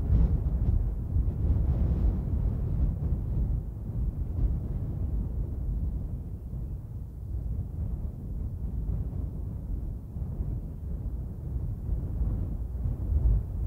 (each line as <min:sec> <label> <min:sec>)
0:00.0 wind, medium constant gusts 0:13.6